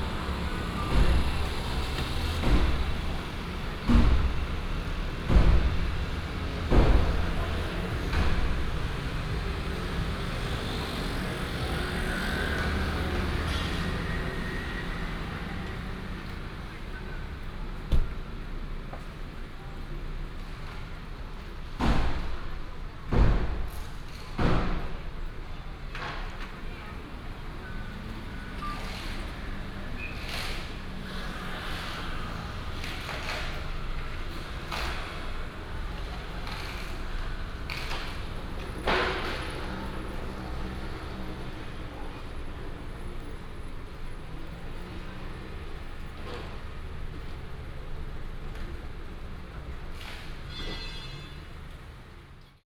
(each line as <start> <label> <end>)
0.0 construction beating sound 10.8
0.0 Traffic sound 52.6
21.8 construction beating sound 25.4